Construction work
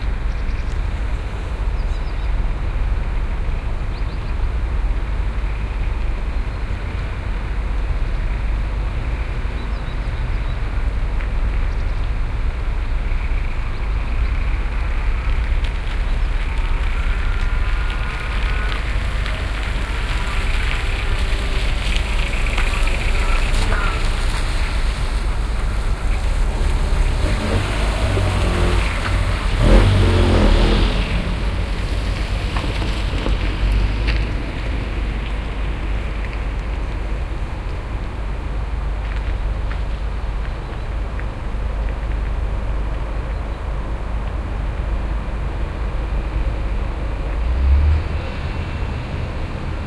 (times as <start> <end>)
14.4 40.0